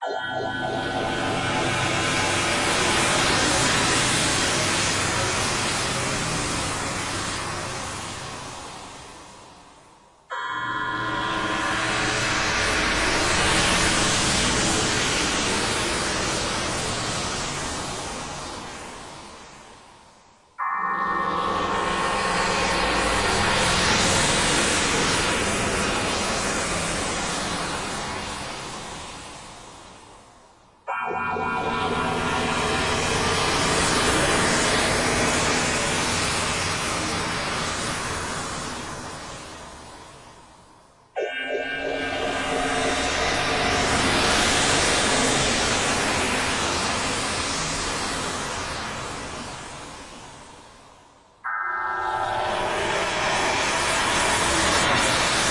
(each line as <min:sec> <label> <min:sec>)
0:00.0 bright atonal horror pads / stabs 0:08.4
0:10.3 bright atonal horror pads / stabs 0:18.4
0:20.6 bright atonal horror pads / stabs 0:28.2
0:30.9 bright atonal horror pads / stabs 0:40.2
0:41.2 bright atonal horror pads / stabs 0:49.8
0:51.5 bright atonal horror pads / stabs 0:55.5